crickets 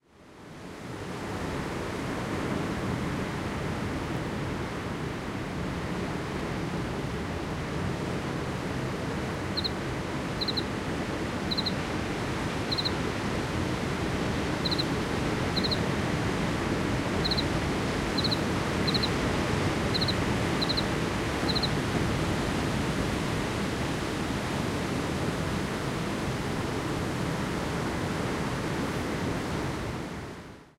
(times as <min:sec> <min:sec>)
0:09.4 0:16.5, 0:17.1 0:21.8